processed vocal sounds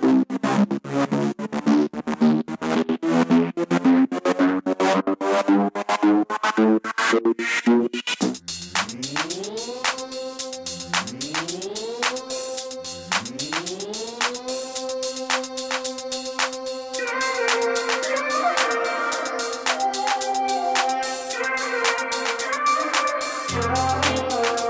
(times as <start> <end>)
8.8 24.6